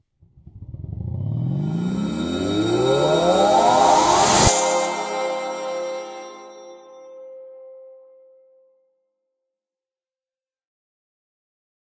0.2s Trailer hit 7.4s
0.3s woosh 7.4s

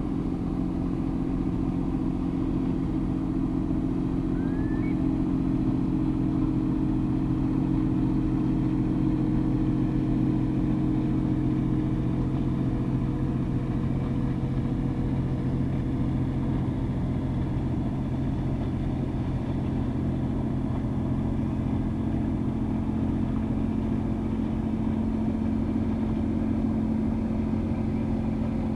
0.0s Distant small boat returning to marina 7.1s
4.2s wading bird calls 5.2s
4.2s curlew 5.0s
4.3s sandpiper 5.0s

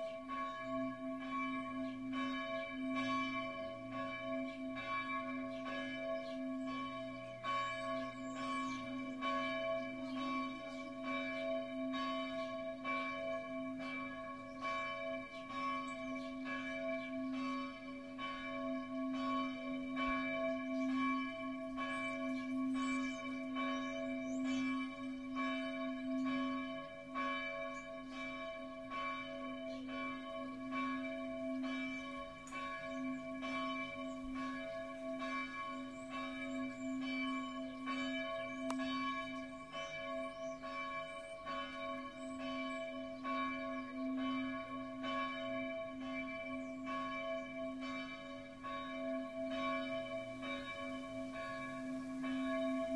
0.0s Church bells 52.9s

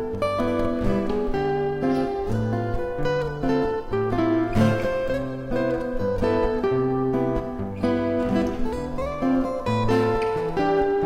0.0s Rythm and solo guitar 11.0s

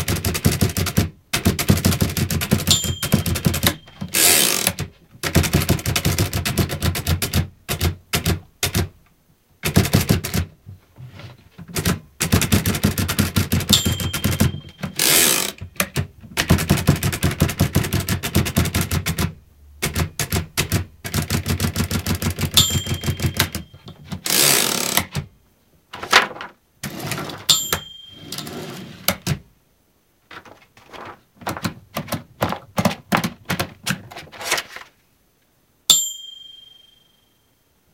0.0s Typing 8.9s
2.7s bell 4.2s
9.6s Typing 10.6s
11.7s Typing 25.2s
13.7s bell 15.0s
22.6s bell 24.0s
25.9s noise of paper 27.5s
27.5s bell 28.9s
30.3s noise of paper 35.0s
35.9s bell 37.7s

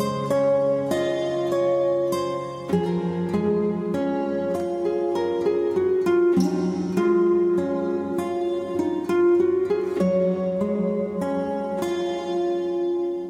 0.0s Guitar 13.2s

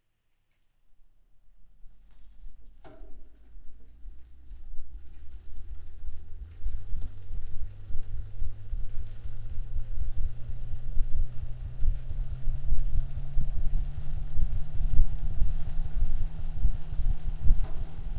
3.8s road bike wheel being cranked at high speed 18.1s

